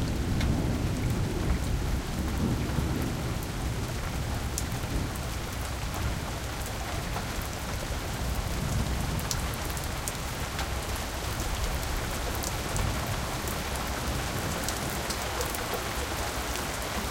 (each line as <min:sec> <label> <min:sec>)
0:00.0 rain hitting the pavement 0:17.1